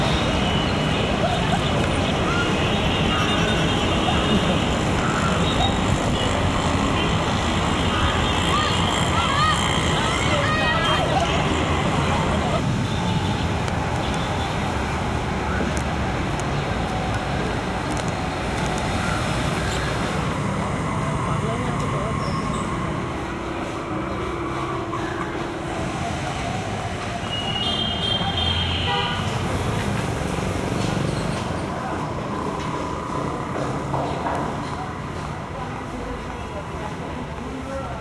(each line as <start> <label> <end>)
0.0 buses 38.0
0.0 cars 38.0
0.0 pedestrians 38.0
0.0 tuktuks 38.0